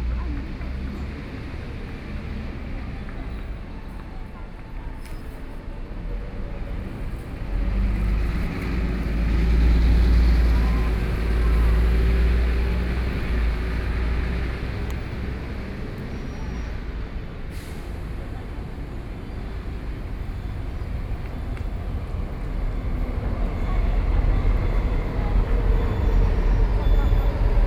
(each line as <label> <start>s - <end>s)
MRT train sounds 0.0s - 27.6s
Traffic Sound 0.0s - 27.6s